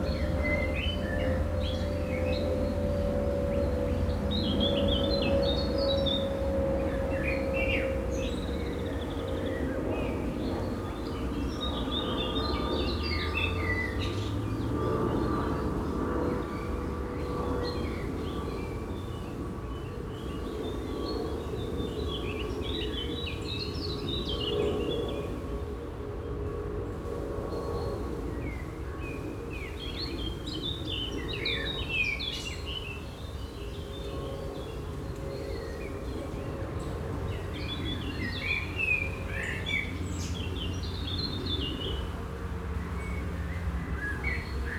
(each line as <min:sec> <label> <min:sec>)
0:00.0 plane crossing the sky 0:31.9
0:32.6 plane crossing the sky 0:44.7